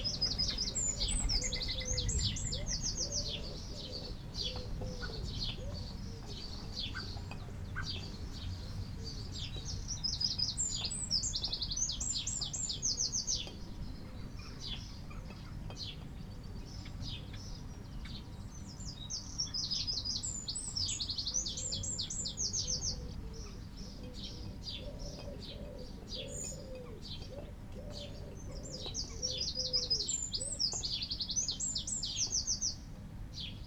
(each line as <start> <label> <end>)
0.0 wood pigeon 9.8
0.0 collared dove 16.2
0.0 blackbird 33.6
0.0 house sparrow 33.6
21.5 collared dove 30.9
22.7 wood pigeon 30.8